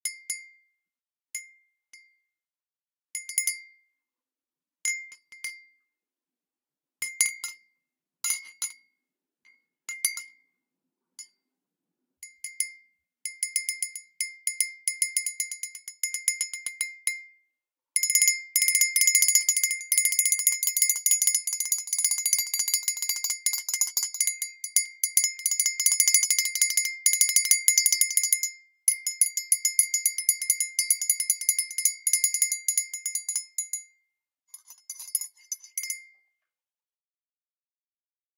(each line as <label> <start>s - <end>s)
ceramic coffee cup being hit with a steel spoon 8.3s - 8.8s
ceramic coffee cup being hit with a steel spoon 18.0s - 33.9s
ceramic coffee cup being hit with a steel spoon 34.5s - 36.2s